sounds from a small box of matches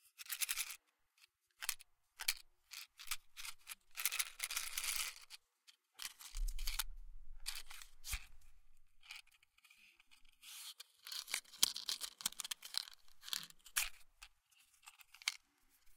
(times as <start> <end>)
6.0 15.9